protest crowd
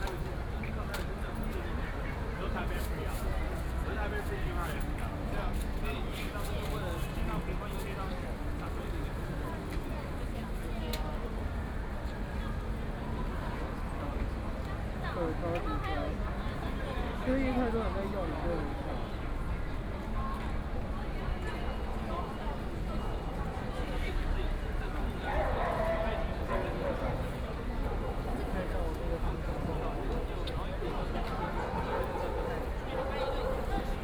0:16.1 0:34.0

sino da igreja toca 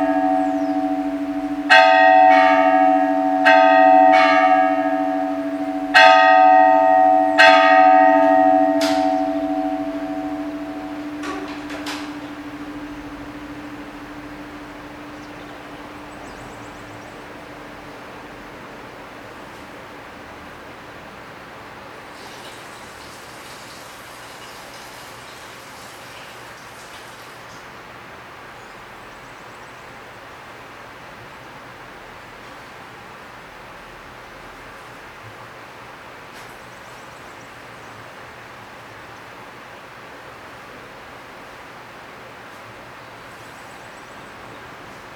0:00.0 0:21.3

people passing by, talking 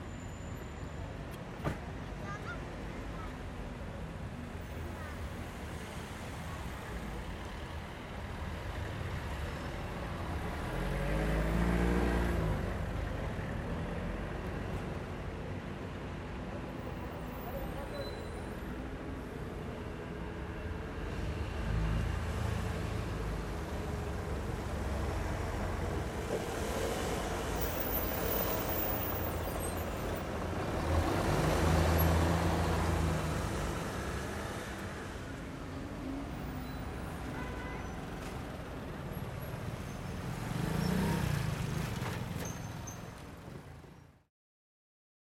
0:01.6 0:08.5, 0:16.8 0:19.7

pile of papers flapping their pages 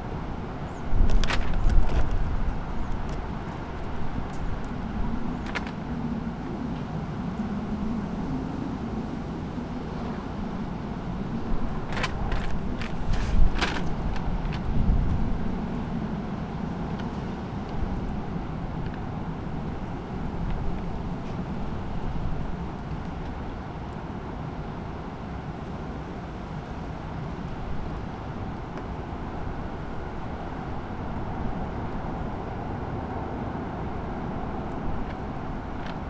0:01.0 0:06.0, 0:11.6 0:15.4, 0:34.6 0:36.0

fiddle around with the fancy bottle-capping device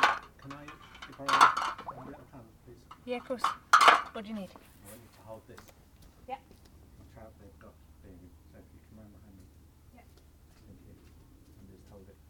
0:00.0 0:01.9

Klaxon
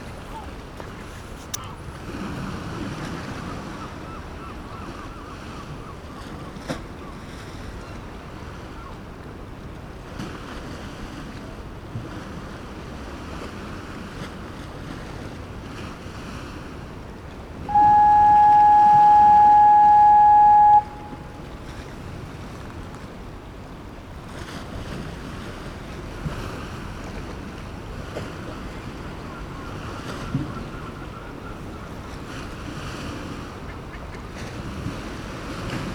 0:17.7 0:21.5

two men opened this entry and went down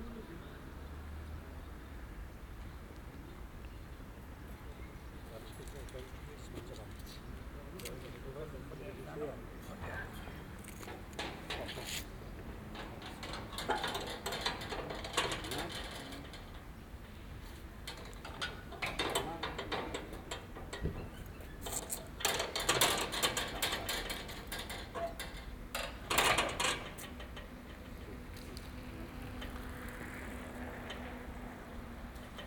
0:09.7 0:32.4

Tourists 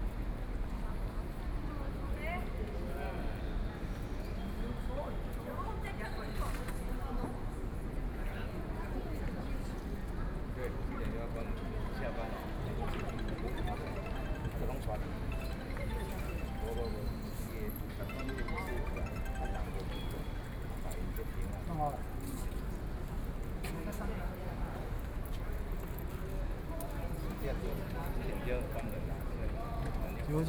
0:12.4 0:20.8

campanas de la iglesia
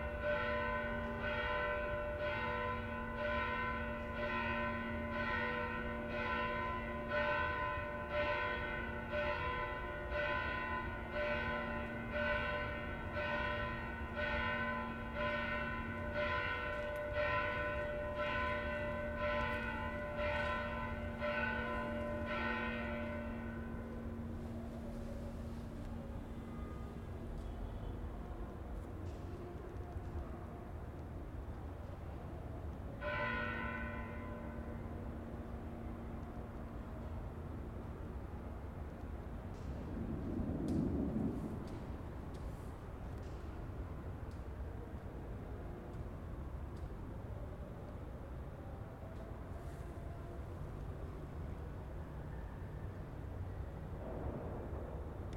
0:00.0 0:30.3

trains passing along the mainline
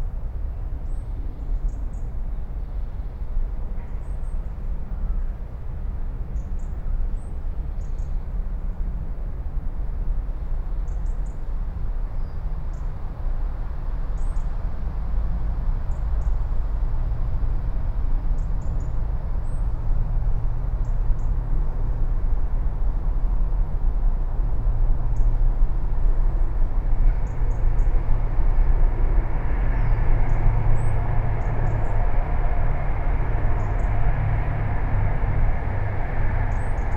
0:12.8 0:36.9

